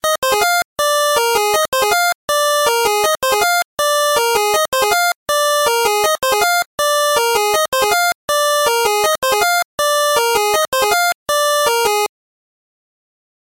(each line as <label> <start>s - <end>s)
chiptune 8bit melody 0.0s - 12.1s